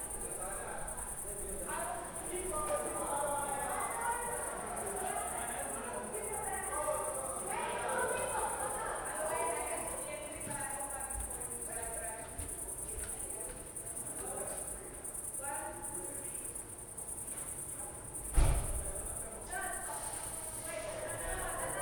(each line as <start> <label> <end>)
0.0 night cricket 21.8